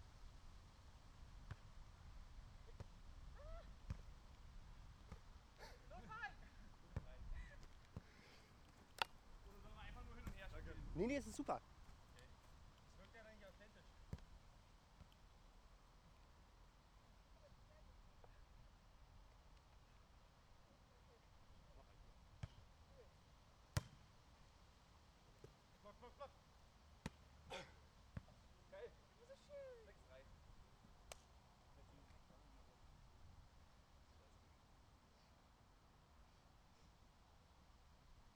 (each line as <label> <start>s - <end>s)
Beachvolleyball 1.5s - 1.7s
Beachvolleyball 2.7s - 4.4s
Beachvolleyball 6.8s - 13.2s
Beachvolleyball 23.7s - 24.1s